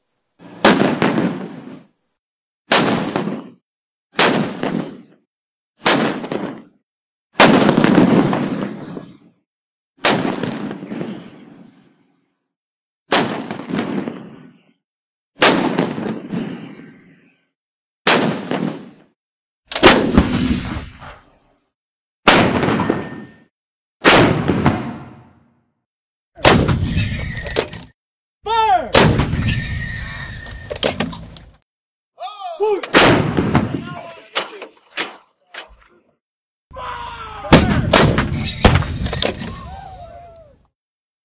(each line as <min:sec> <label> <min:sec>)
0:00.4 Artillery Shots 0:01.9
0:02.7 Artillery Shots 0:03.6
0:04.2 Artillery Shots 0:05.2
0:05.8 Artillery Shots 0:06.8
0:07.4 Artillery Shots 0:09.3
0:10.0 Artillery Shots 0:11.8
0:13.1 Artillery Shots 0:14.6
0:15.4 Artillery Shots 0:17.2
0:18.0 Artillery Shots 0:19.1
0:19.7 Artillery Shots 0:21.5
0:22.3 Artillery Shots 0:25.5
0:26.4 Artillery Shots 0:27.9
0:28.9 Artillery Shots 0:31.4
0:32.9 Artillery Shots 0:33.8
0:37.5 Artillery Shots 0:40.0